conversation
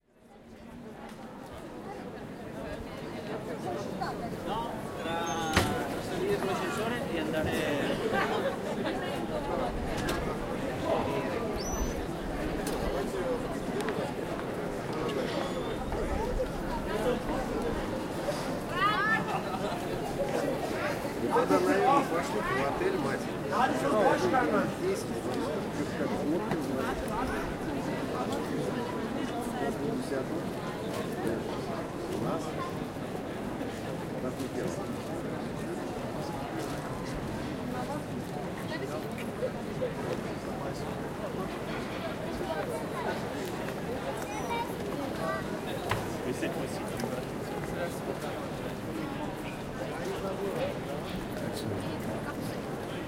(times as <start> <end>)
3.7 10.0, 16.7 32.9, 42.5 48.5